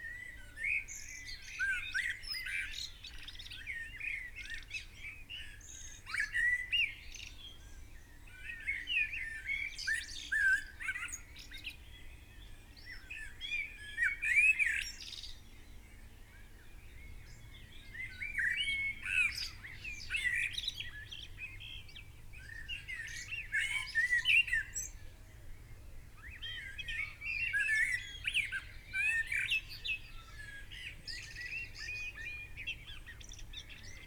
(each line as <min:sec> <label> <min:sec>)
0:00.0 blackbird song 0:34.0
0:00.0 pheasant 0:34.0